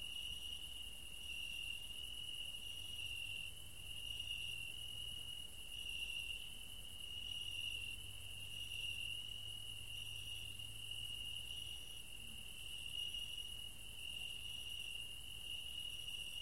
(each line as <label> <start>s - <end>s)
cricket 0.0s - 16.4s